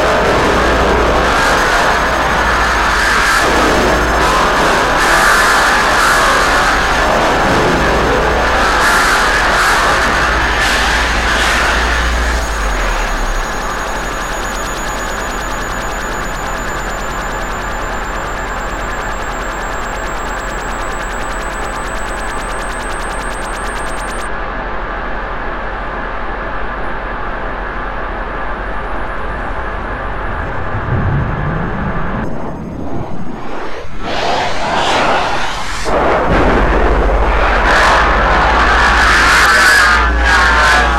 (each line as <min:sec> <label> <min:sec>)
0:07.0 synthesizer 0:24.3